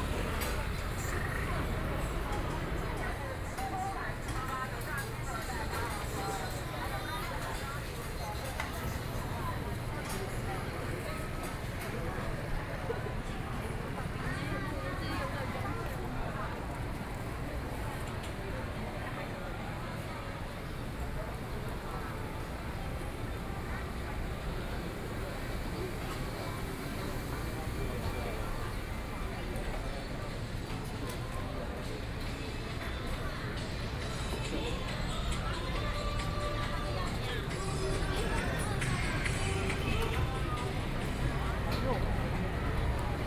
0.0s Traffic Sound 11.8s
20.8s Traffic Sound 31.0s
31.9s Traffic Sound 43.2s

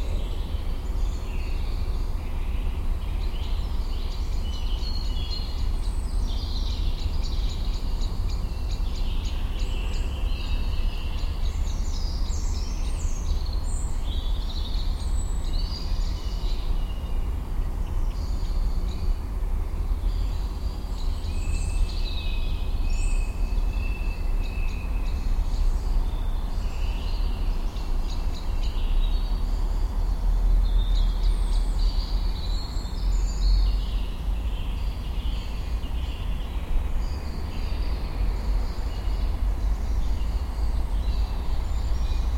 0.0s many birds 42.3s
0.0s omnipresent buzzing of the city 42.3s
0.0s very distant cars 42.3s

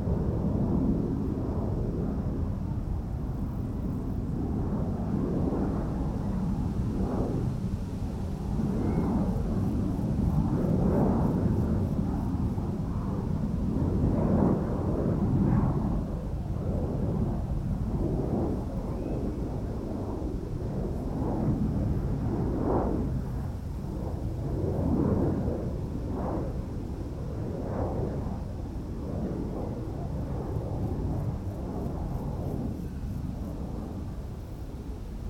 0.0s windy 35.2s

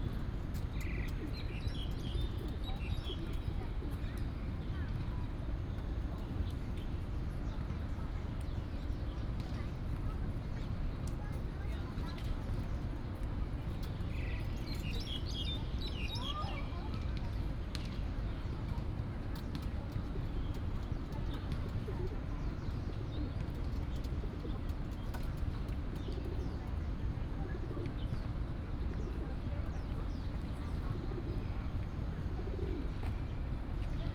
30.8s pigeon 33.1s

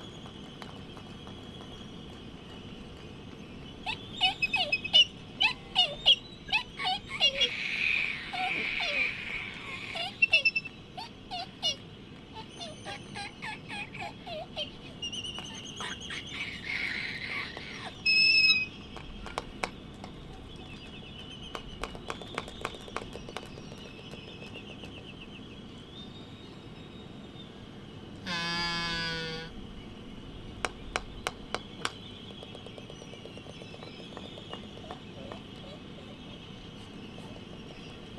0.0s laysan albatross dancing 25.4s
28.1s laysan albatross dancing 38.1s

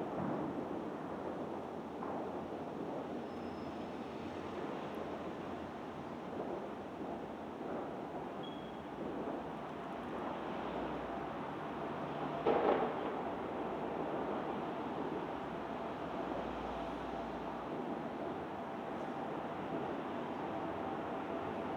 0.0s Fireworks 21.7s

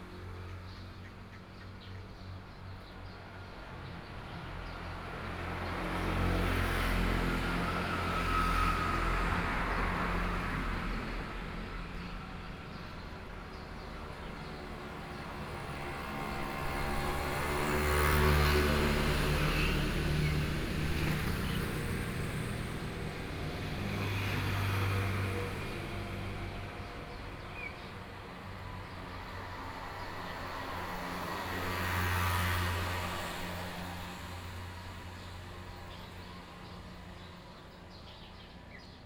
0.0s Traffic Sound 38.8s

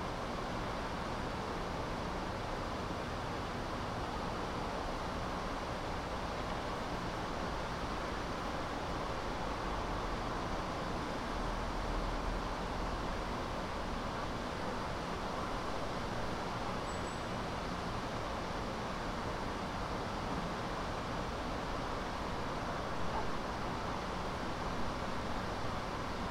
0.0s subtle wind sounds 26.3s

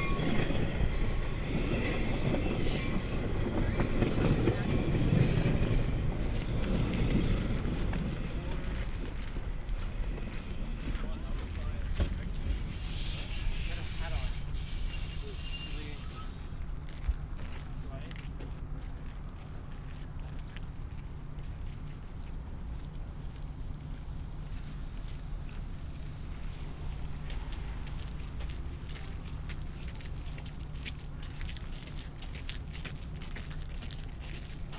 0.0s Train arrival and departure 34.7s

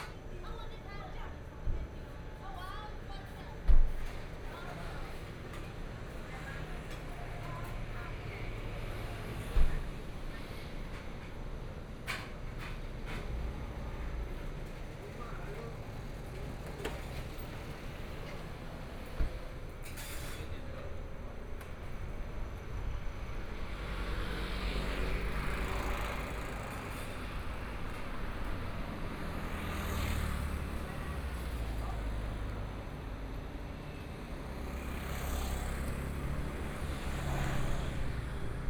15.9s Traffic Sound 38.6s

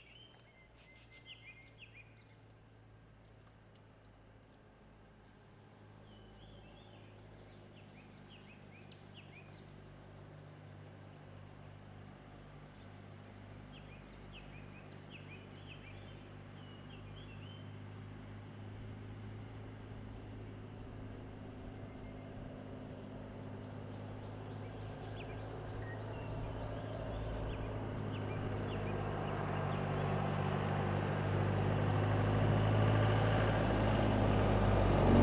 17.7s Traffic Sound 35.2s
19.6s Birds singing 33.9s

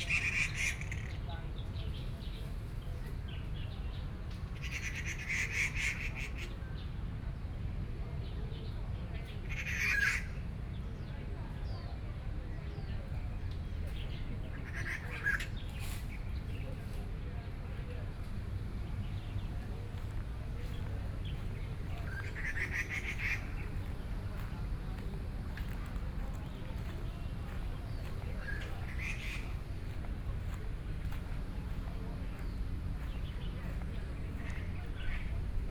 0.0s Walking through the park 6.6s
9.2s Walking through the park 35.7s
12.6s Birdsong sounds 35.7s
13.1s Traffic Sound 35.7s

